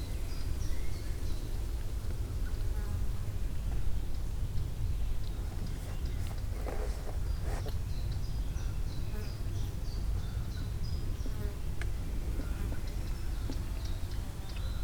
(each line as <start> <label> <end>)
5.0 birds chirping on the trees 14.8